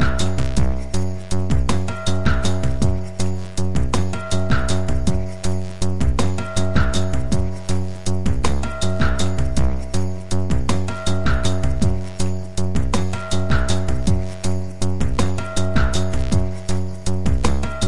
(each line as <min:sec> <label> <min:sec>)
0:00.0 synthesizer 0:17.8